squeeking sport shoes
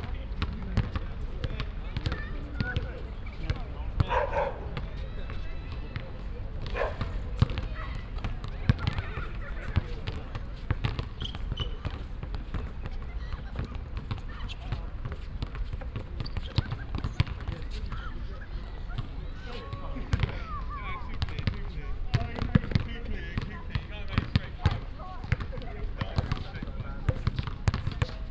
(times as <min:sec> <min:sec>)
0:11.1 0:12.0, 0:16.2 0:19.9